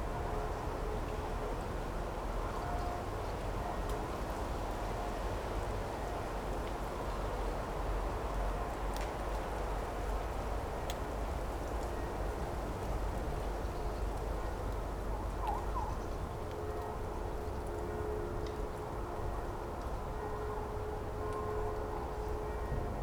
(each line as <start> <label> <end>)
20.1 Church bells 23.0